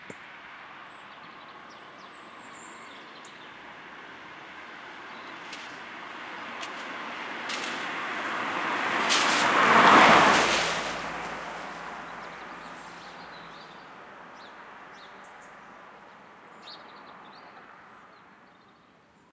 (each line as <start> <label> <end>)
0.0 car 18.6
6.4 rain 13.4